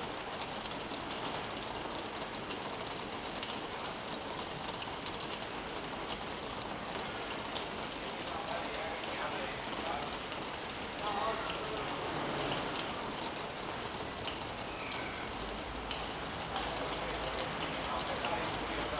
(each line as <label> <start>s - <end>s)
Rain 0.0s - 18.9s